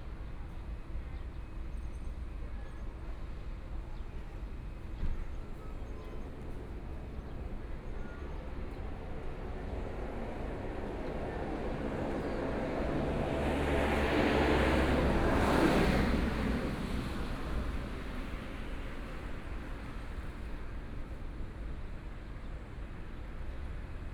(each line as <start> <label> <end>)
6.2 Traffic Sound 20.5